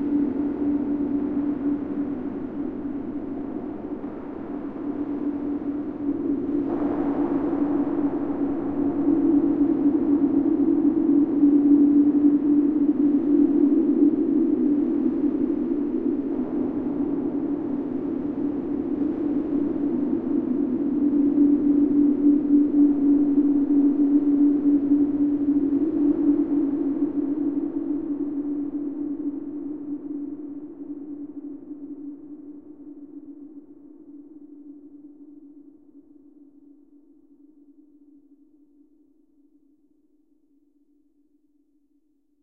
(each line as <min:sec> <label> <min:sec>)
0:00.0 DEEP SPACE DRONE 0:28.4